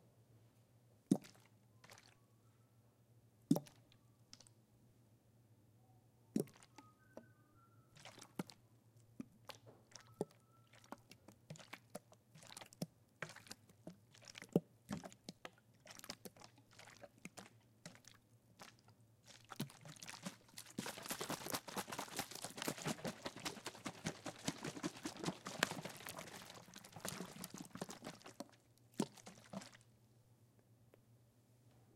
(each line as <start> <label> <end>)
1.1 water bottle 2.2
3.5 water bottle 3.8
6.4 water bottle 7.3
8.0 water bottle 8.6
9.4 water bottle 29.8